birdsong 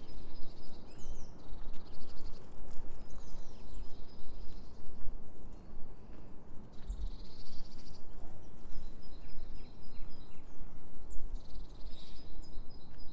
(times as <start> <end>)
6.7 13.1